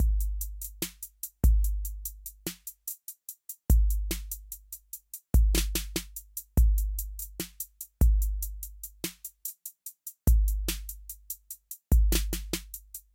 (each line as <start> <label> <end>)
0.0 Hip hop beat 13.1